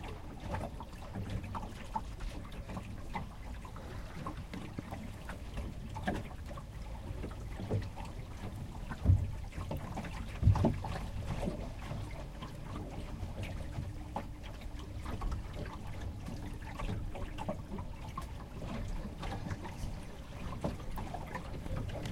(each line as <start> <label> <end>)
0.0 water 22.1